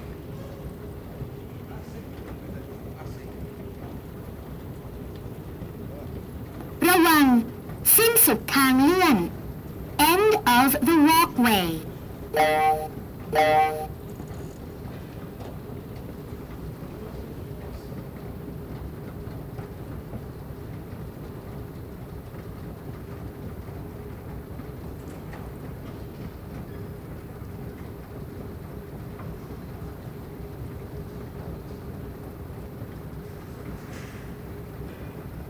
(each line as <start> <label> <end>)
6.8 automatic voice announce the end of the walkway 9.4
10.0 automatic voice announce the end of the walkway 13.9